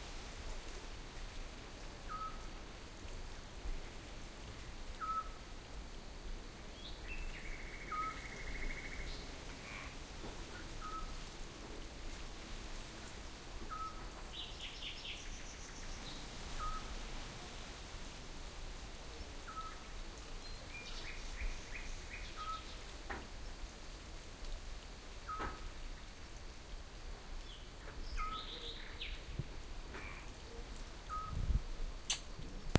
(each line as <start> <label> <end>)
0.0 distant streams 32.7
0.0 wind 32.7
9.6 distant frogs 11.2
29.8 distant frogs 30.4